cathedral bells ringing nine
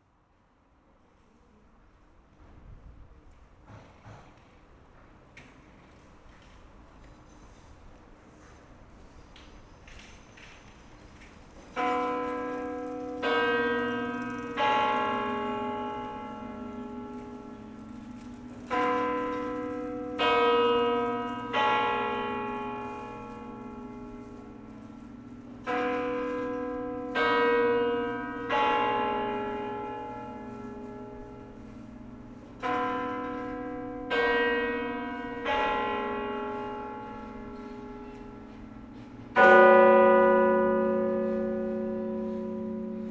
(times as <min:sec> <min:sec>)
0:11.8 0:43.1